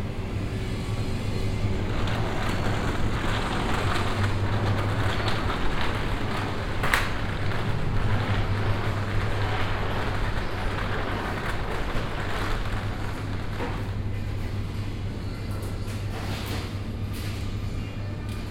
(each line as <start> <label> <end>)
0.0 electric buzz of the ice fridges 18.5
0.0 hum of the ventilation 18.5
0.1 opening of the automatic door 18.5
0.6 rolling of a plastic shopping cart 17.5
1.8 paper bag 13.8